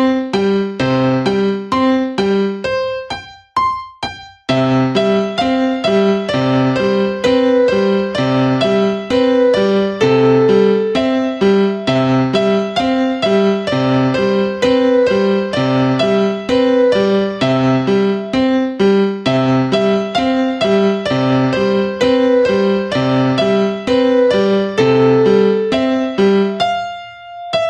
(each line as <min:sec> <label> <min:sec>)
0:00.0 Laptop Piano Practice 0:27.6